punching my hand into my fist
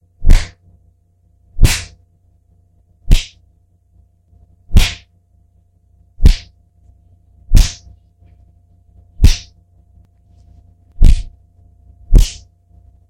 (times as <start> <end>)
0.2 0.6, 1.6 2.0, 3.1 3.4, 4.7 5.1, 6.2 6.5, 7.5 7.9, 9.2 9.5, 11.0 11.3, 12.1 12.5